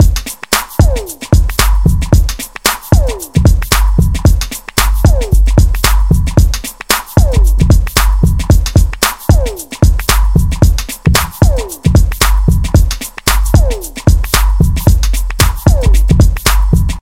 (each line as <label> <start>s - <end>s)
snare 0.0s - 17.0s
hi hat 0.0s - 17.0s